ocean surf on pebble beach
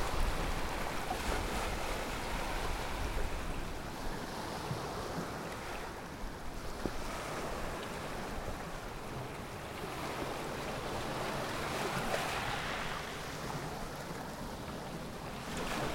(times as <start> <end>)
9.8 13.8